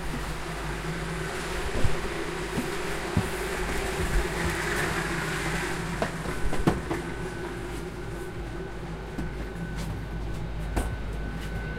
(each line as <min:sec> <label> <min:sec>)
0:00.0 Train arriving 0:11.7